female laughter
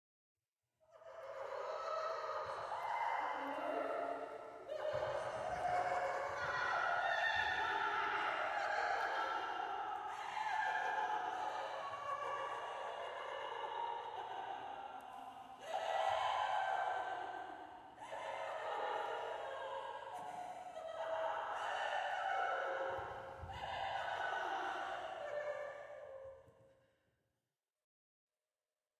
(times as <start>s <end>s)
4.7s 9.6s, 10.2s 16.9s